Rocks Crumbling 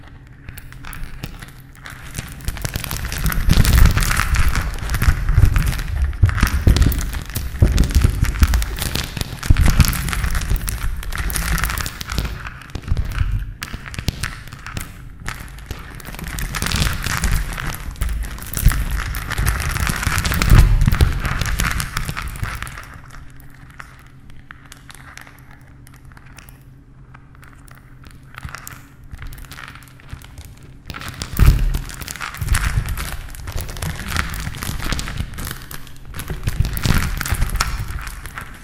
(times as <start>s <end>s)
0.9s 23.0s, 30.9s 38.6s